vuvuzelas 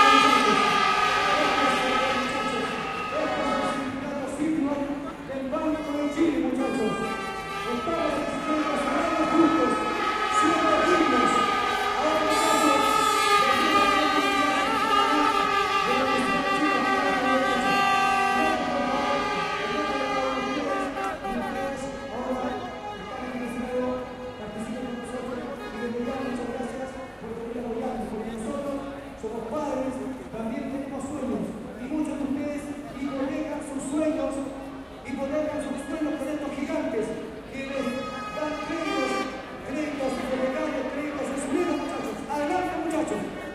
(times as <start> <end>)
0.0 4.0, 5.0 27.2, 37.6 43.0